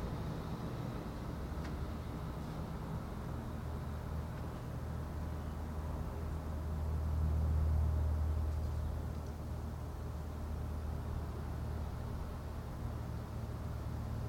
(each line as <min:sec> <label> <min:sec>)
0:00.0 Cars 0:14.2